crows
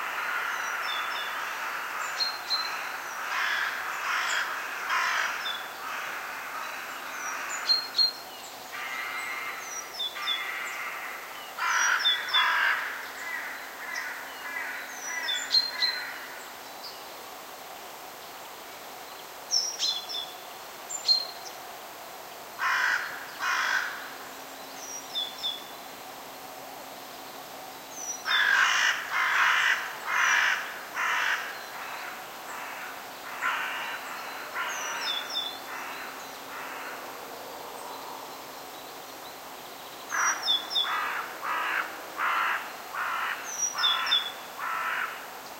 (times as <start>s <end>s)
0.0s 8.0s, 8.7s 16.4s, 22.6s 24.2s, 28.2s 37.2s, 40.1s 45.3s